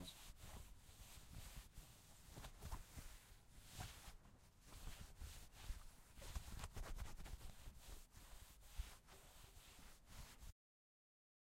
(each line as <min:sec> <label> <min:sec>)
0:00.0 Rubbing on material 0:10.6